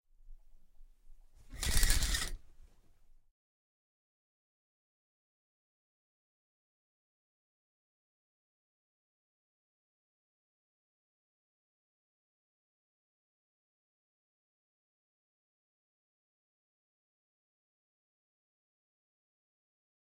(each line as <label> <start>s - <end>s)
Opening the shower curtain 1.4s - 2.5s